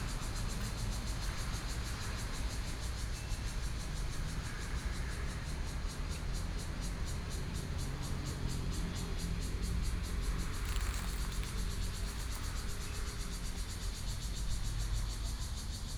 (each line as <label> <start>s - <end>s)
Cicadas sound 0.0s - 15.9s
Traffic Sound 9.3s - 14.2s